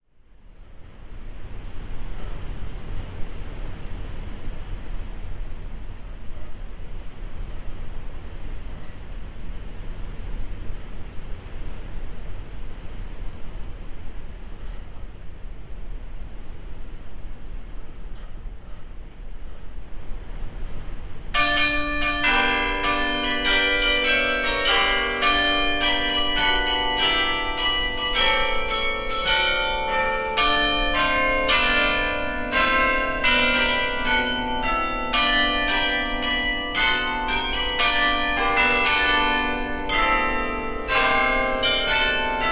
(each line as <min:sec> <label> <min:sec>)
0:21.4 Carillon 0:42.5